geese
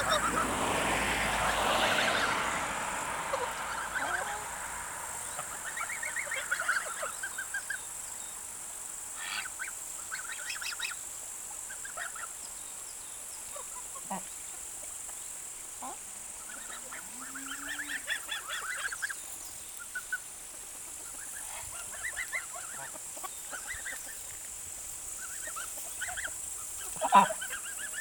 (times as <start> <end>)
0.0 2.4, 3.2 7.8, 9.2 11.0, 11.7 12.4, 13.5 14.3, 15.8 24.4, 25.1 28.0